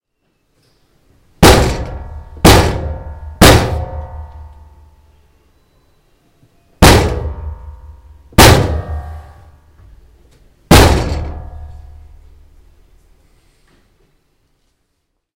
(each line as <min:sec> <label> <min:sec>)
0:01.4 Lift Door bangs 0:04.7
0:06.8 Lift Door bangs 0:09.6
0:10.7 Lift Door bangs 0:12.2